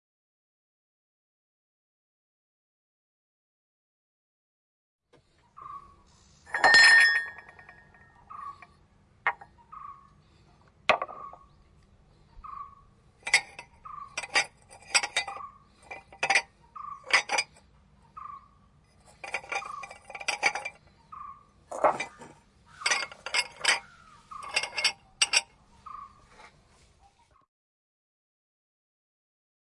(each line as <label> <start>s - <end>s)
Cups in the sink 6.5s - 8.0s
Cups in the sink 13.2s - 17.6s
Cups in the sink 19.0s - 20.8s
Cups in the sink 21.7s - 25.5s